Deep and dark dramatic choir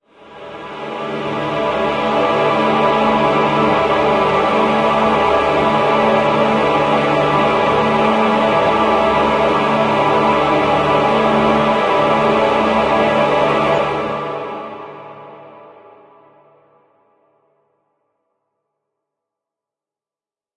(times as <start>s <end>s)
0.1s 16.1s